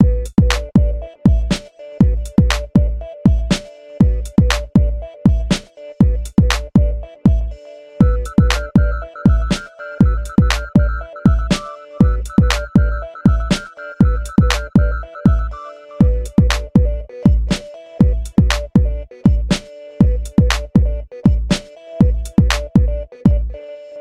drum 0:00.0 - 0:07.4
melody 0:08.0 - 0:16.4
drum 0:08.0 - 0:23.4

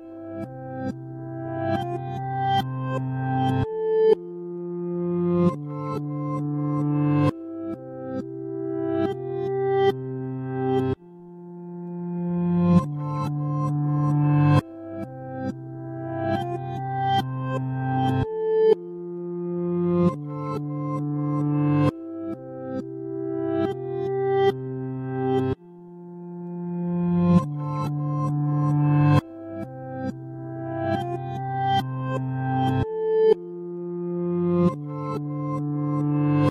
reversed guitar loop 0:00.3 - 0:36.5

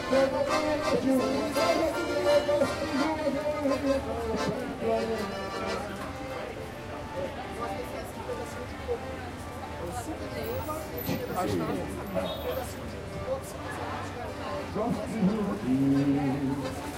sings a popular tune 0:00.0 - 0:05.8
Accordion player 0:00.0 - 0:09.2
pedestrians walking by and talking 0:00.0 - 0:16.9
traffic sound of a big city 0:00.0 - 0:16.9
Accordion player 0:13.0 - 0:16.9

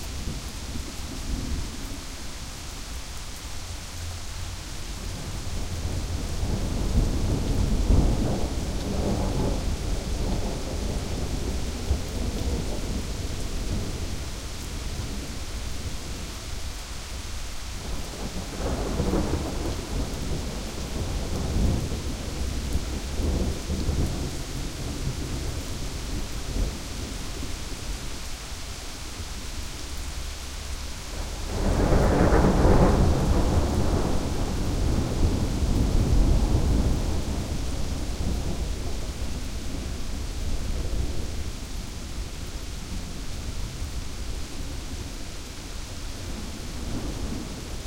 rain 0:00.0 - 0:47.8
thunder 0:05.1 - 0:14.1
thunder 0:31.1 - 0:41.3

